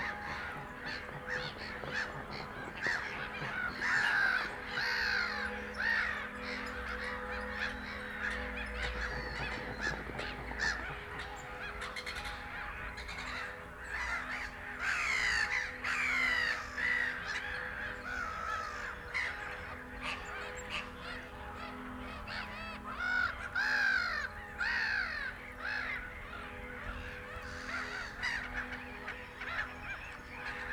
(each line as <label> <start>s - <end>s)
Black-headed gulls 0.0s - 30.7s
church bells 0.0s - 30.7s